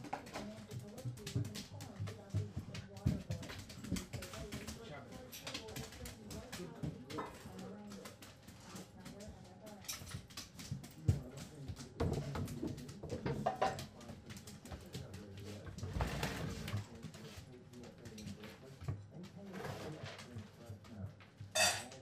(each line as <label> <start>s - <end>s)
feeding the dogs 0.0s - 22.0s